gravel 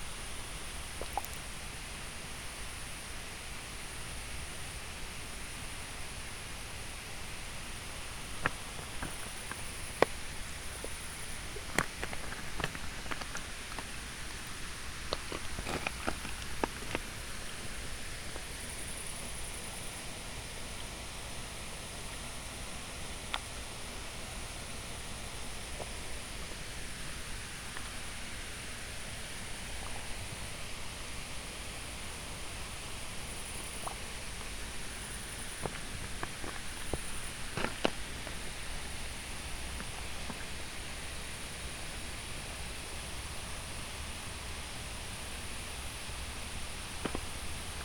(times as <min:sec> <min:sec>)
0:06.6 0:20.0, 0:23.2 0:47.8